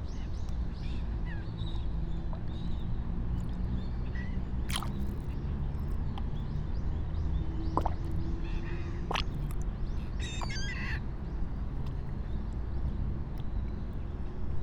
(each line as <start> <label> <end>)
4.7 fish mouths, elongating out of the cloudy pond 6.5
7.6 fish mouths, elongating out of the cloudy pond 8.4
9.0 fish mouths, elongating out of the cloudy pond 10.7